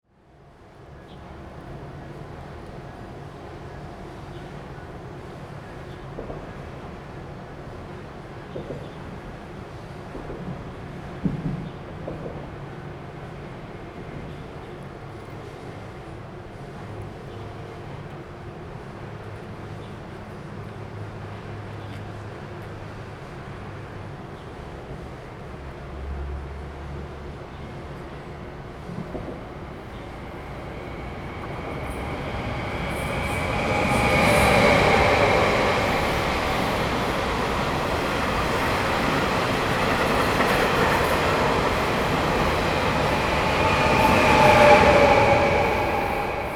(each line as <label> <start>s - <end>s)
The train runs through 0.5s - 46.5s
Traffic sound 25.9s - 46.5s